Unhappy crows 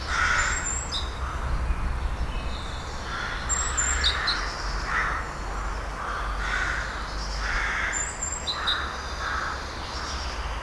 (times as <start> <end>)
0.0 1.6, 3.0 5.4, 6.0 10.3